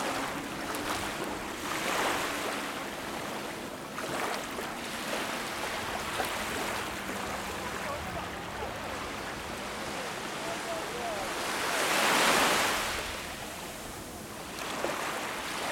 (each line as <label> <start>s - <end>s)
People enjoy walking and gathering 3.6s - 12.0s